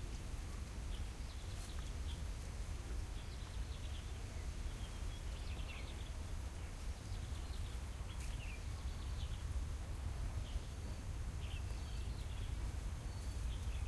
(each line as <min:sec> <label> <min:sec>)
0:00.9 bird 0:09.6
0:10.2 bird 0:13.8